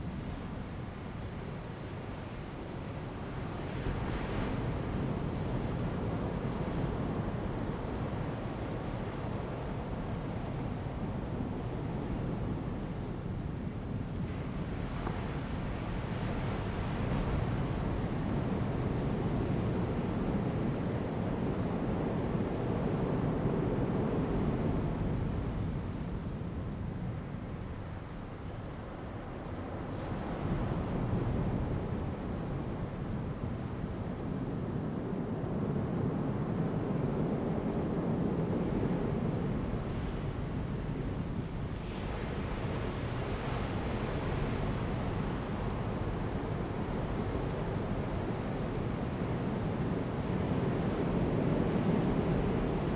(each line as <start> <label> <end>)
0.0 waves 52.9